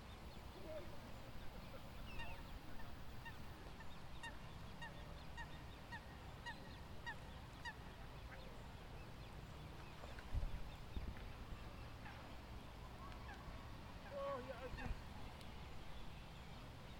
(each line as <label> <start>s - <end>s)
swans 0.0s - 16.9s
Moorhens 0.0s - 16.9s
herons 0.0s - 16.9s
ducks 1.5s - 8.6s
ducks 11.7s - 12.3s
ducks 12.9s - 15.1s